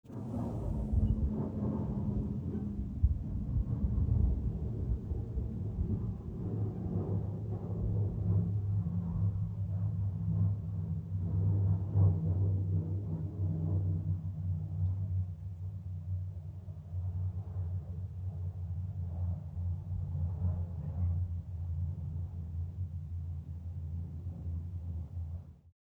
Airplane Overhead 0:00.1 - 0:25.6

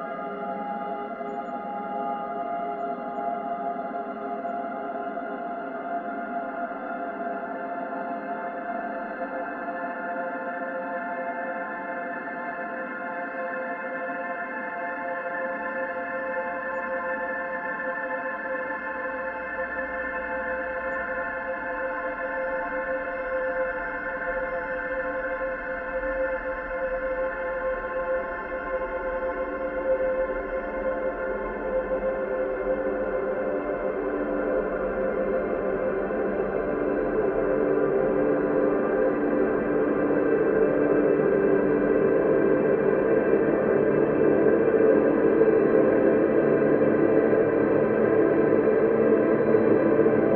slowly evolving ambient drone pad 0:00.0 - 0:50.3

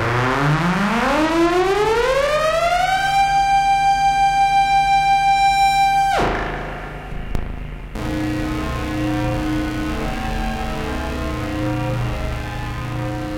Drone 0:00.0 - 0:13.3
feedbacks 0:06.2 - 0:13.3

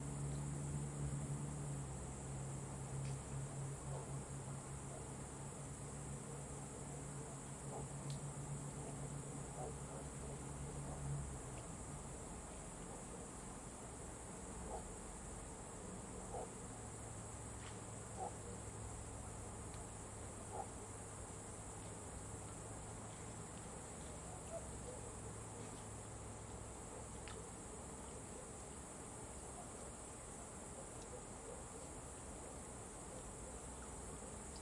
Cicadas 0:00.0 - 0:34.6
Crickets 0:00.0 - 0:34.6
Engine 0:00.0 - 0:34.6
River 0:00.0 - 0:34.6
Dog 0:03.9 - 0:04.1
Dog 0:07.7 - 0:07.9
Dog 0:08.8 - 0:11.1
Dog 0:14.6 - 0:14.9
Dog 0:16.2 - 0:16.6
Dog 0:18.2 - 0:18.6
Dog 0:20.5 - 0:20.9
Dog 0:24.1 - 0:25.9
Dog 0:30.4 - 0:32.0
Dog 0:33.0 - 0:34.4

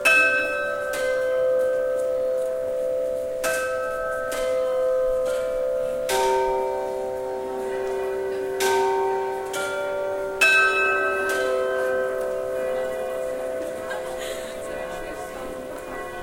ringing a chime 0:00.0 - 0:16.2

